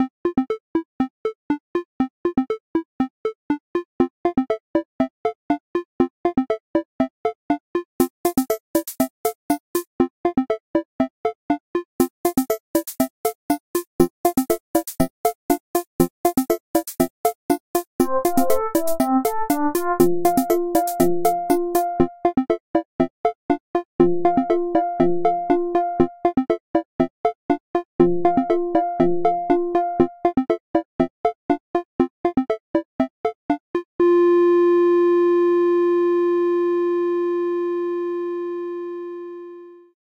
Little, happy tune 18.0 - 22.3

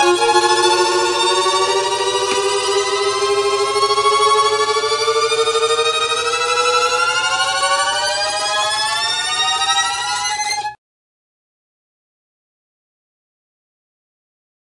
tremolo violin parts 0.0 - 10.8

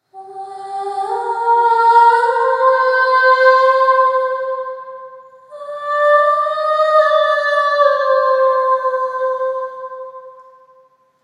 Mysterious monophonic high pitch voice with reverb 0.0 - 10.9

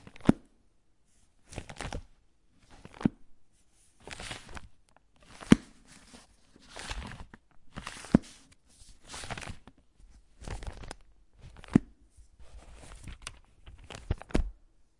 book open close 0.0 - 0.4
book open close 1.5 - 3.2
book open close 4.0 - 14.5

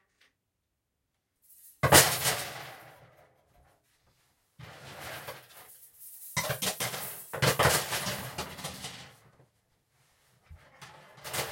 Coat hangers dropped on a hardwood floor 1.5 - 2.7
Coat hangers dropped on a hardwood floor 5.3 - 9.1

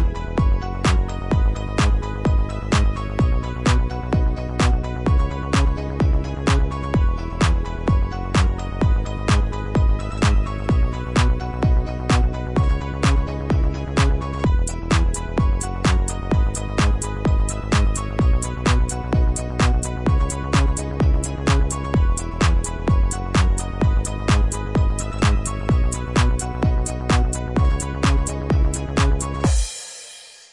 piano 0.0 - 29.8

